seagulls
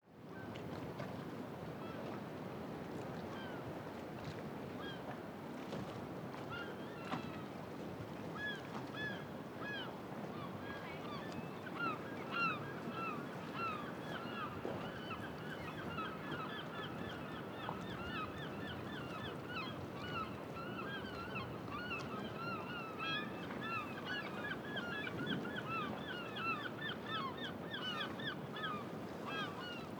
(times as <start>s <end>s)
8.3s 29.9s